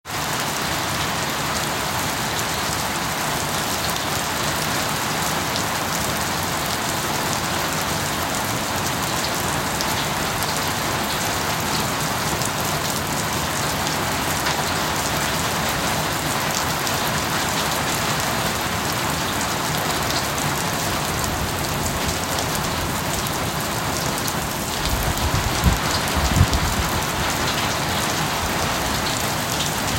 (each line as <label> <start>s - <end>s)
Heavy heavy rain 0.0s - 29.9s